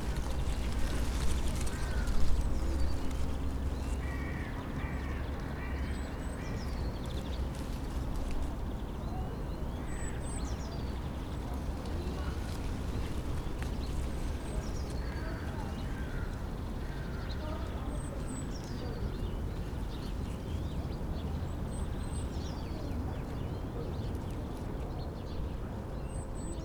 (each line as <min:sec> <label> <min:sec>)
0:00.0 dry leaves of a bush in the wind 0:26.6
0:01.6 crows 0:02.6
0:04.0 crows 0:06.5
0:15.0 crows 0:17.7